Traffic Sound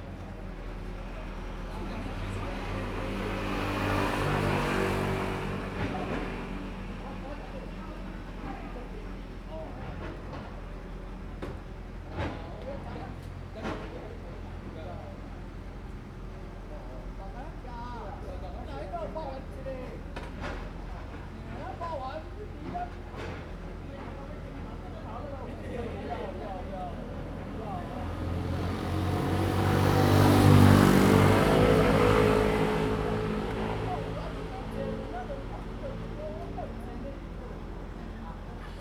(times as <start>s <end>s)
26.6s 38.8s